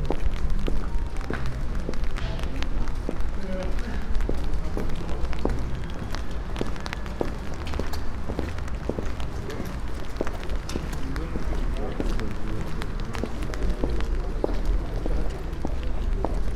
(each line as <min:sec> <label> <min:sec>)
0:00.0 raindrops on umbrella 0:16.5
0:00.0 walking downtown streets 0:16.5